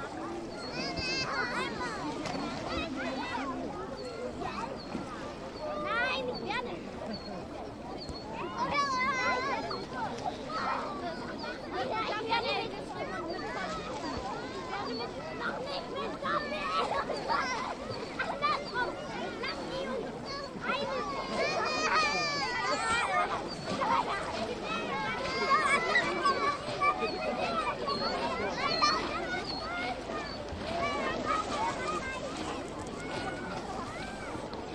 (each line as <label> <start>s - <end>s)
playing kids in the water, yeling and screamiomg 0.0s - 34.7s